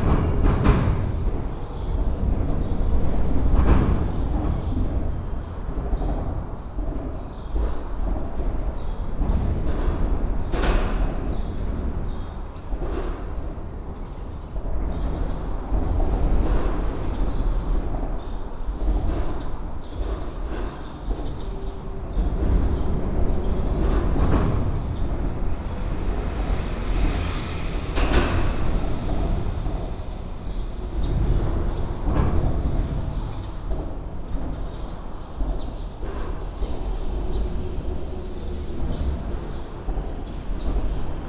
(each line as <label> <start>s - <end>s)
Traffic sound 0.0s - 41.2s